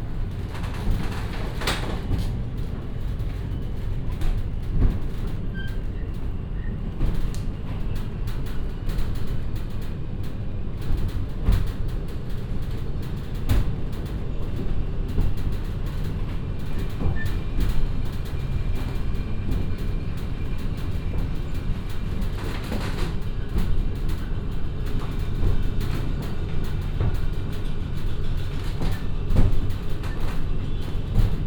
elevator ride 0.0 - 31.4

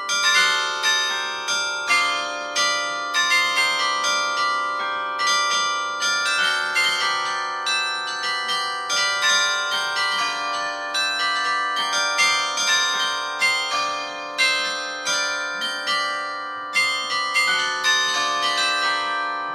bell ensemble playing a melody 1.9 - 19.5

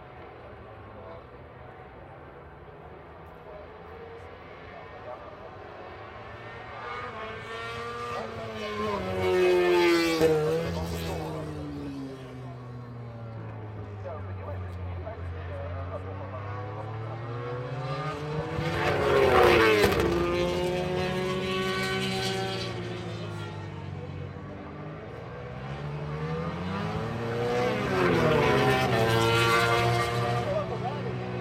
Motorcycle Grand Prix 0.0 - 31.4
commentary 25.6 - 31.4

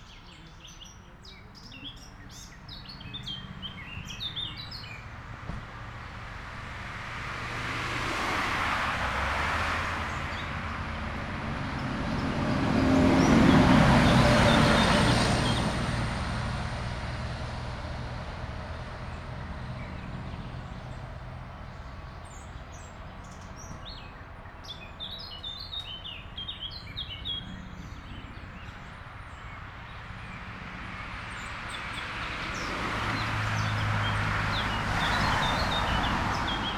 cars passing by 0.1 - 36.7

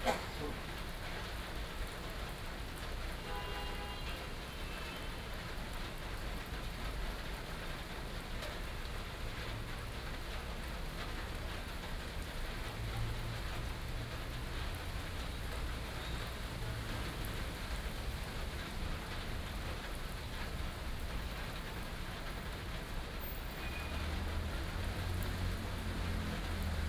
Rainy Day 0.0 - 26.8
Traffic Sound 0.0 - 26.8

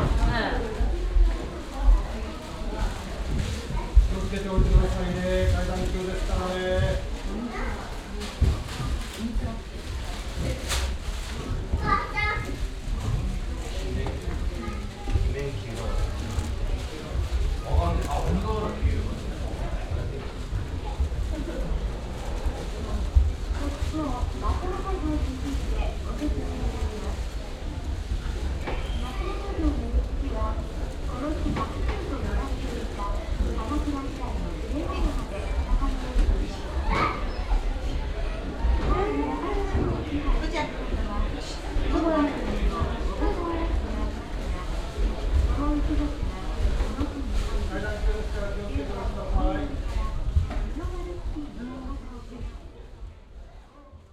plastic bags where they carry their shoes 0.0 - 52.7

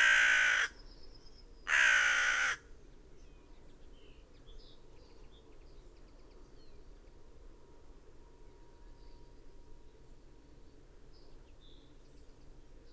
crow 0.0 - 0.8
background noise 0.0 - 12.9
crow 1.7 - 2.6

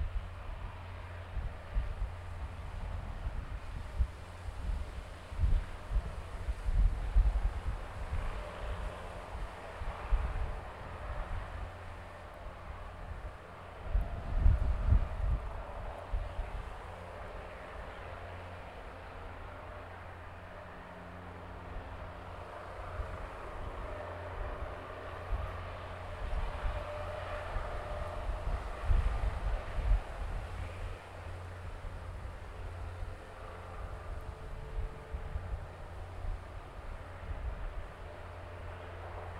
Aircraft idling 0.0 - 39.3

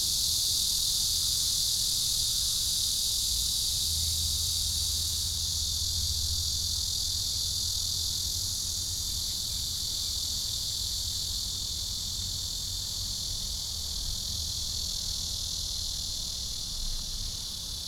Cicadas 0.0 - 17.8

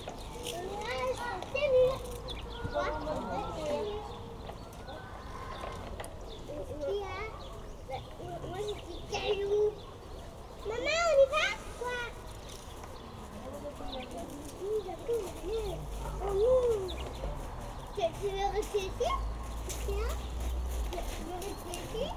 Children playing in a playground 0.0 - 22.1

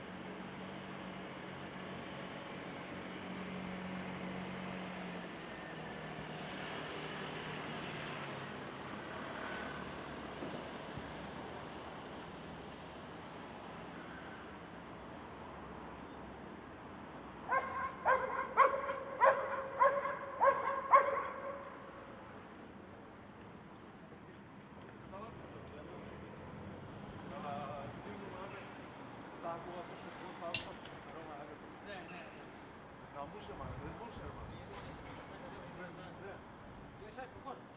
dog barking 17.5 - 21.7
conversation between friends 27.0 - 37.6

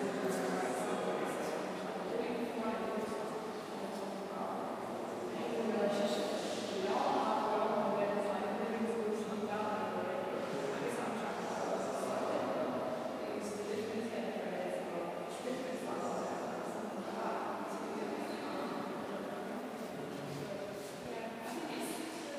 blurry conversation 0.0 - 22.3

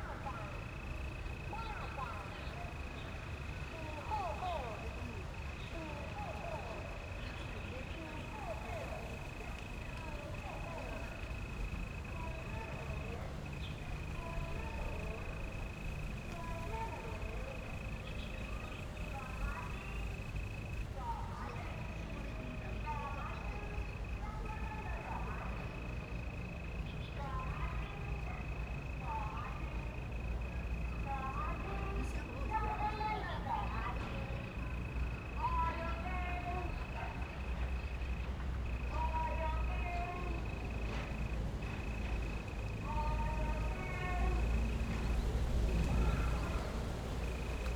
Distant sound truck broadcasting 0.0 - 47.7

